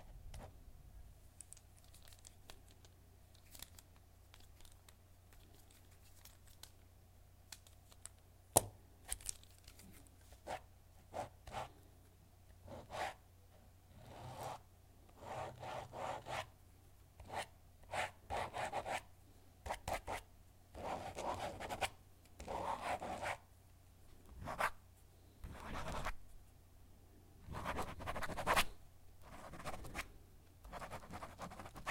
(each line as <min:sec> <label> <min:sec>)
0:12.6 Pen on paper 0:13.2
0:14.0 Pen on paper 0:14.6
0:15.2 Pen on paper 0:16.5
0:17.2 Pen on paper 0:19.0
0:19.6 Pen on paper 0:23.4
0:25.4 Pen on paper 0:26.2
0:27.5 Pen on paper 0:30.0
0:30.6 Pen on paper 0:31.9